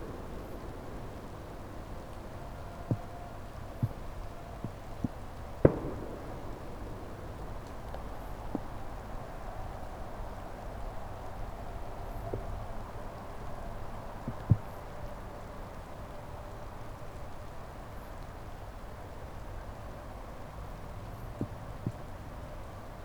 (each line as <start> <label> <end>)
0.0 distant fireworks 9.9
0.0 light rain 23.0
0.0 low hum of night city 23.0
0.0 trees 23.0